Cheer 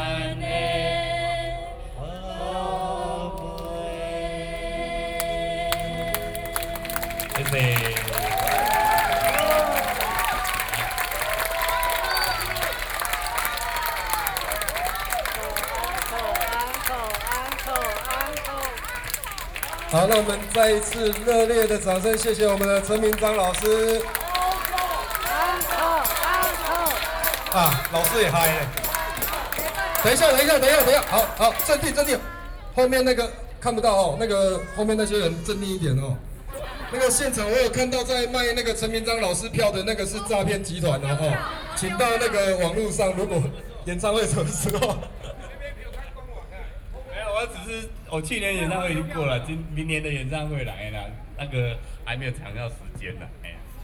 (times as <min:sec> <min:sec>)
0:05.7 0:32.8